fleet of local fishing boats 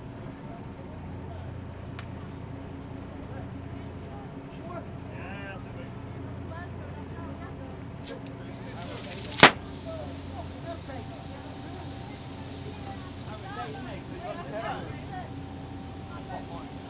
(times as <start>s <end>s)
6.0s 16.8s